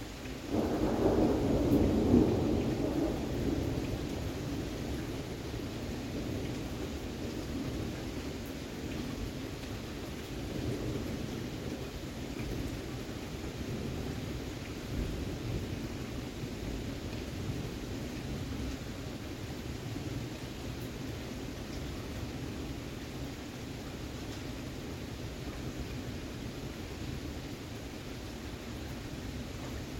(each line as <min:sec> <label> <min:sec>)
0:00.0 heavy rain 0:29.9